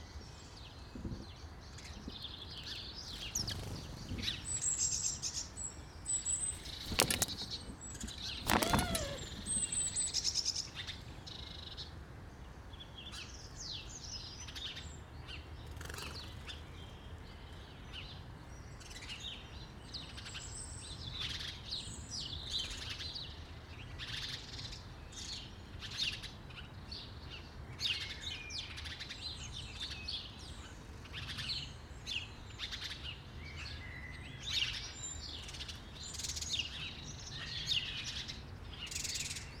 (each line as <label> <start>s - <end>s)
house sparrows 1.0s - 11.9s
blue tits 1.8s - 11.0s
squirrel 6.3s - 10.5s
doves 6.4s - 10.2s
wood pigeons 6.5s - 10.2s
great tits 8.4s - 9.5s